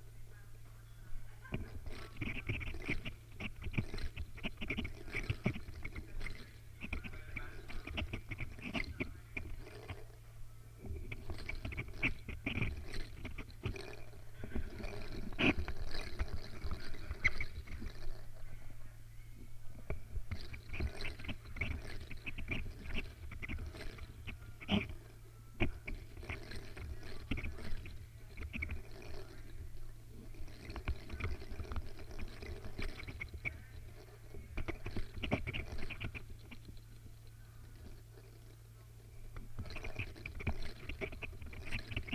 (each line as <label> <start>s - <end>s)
sonic spindle spinning yarn 1.2s - 18.8s
sonic spindle spinning yarn 19.5s - 42.1s